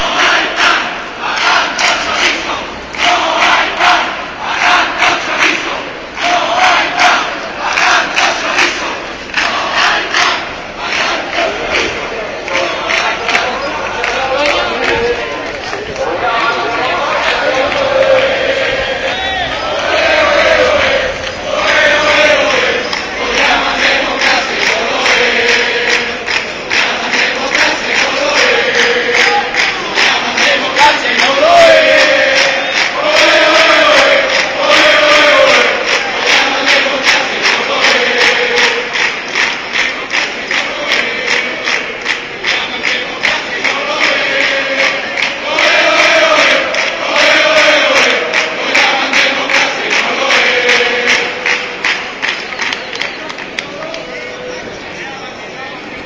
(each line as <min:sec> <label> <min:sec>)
0:00.0 crowd shouts slogans 0:52.3